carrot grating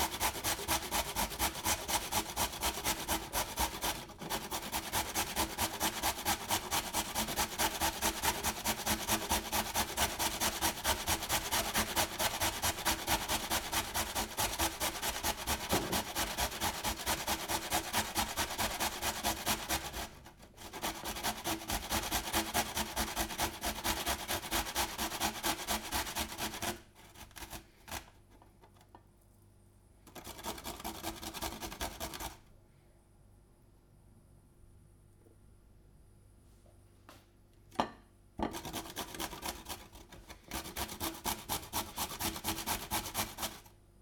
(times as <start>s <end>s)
0.0s 23.6s, 38.5s 43.7s